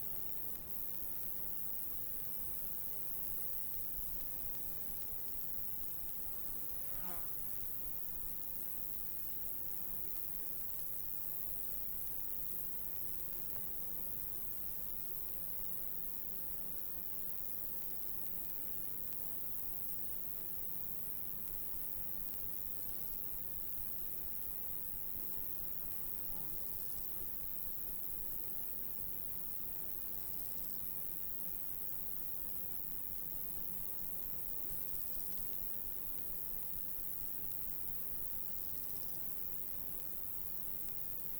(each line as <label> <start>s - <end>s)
cicadas and other insects tschirping 0.0s - 41.3s